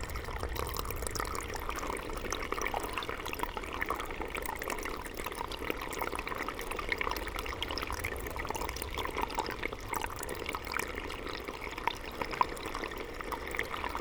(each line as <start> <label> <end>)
0.0 Water gushes from holes 14.0